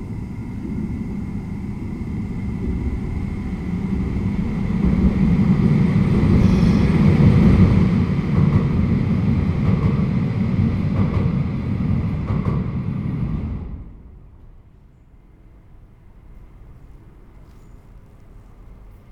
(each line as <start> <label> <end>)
0.0 metro train crossing on bridge above 19.1